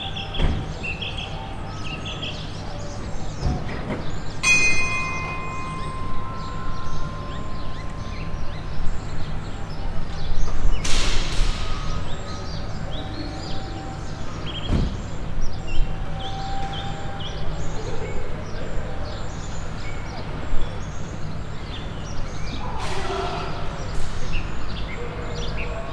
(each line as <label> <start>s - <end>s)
bells 0.0s - 20.4s